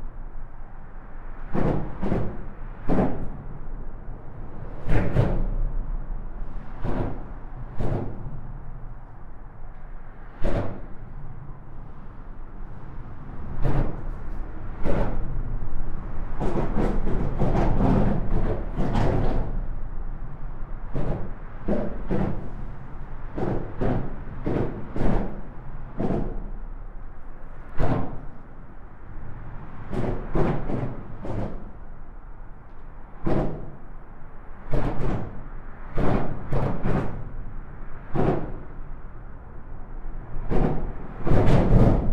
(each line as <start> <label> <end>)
0.0 trafic of cars and lorries 42.1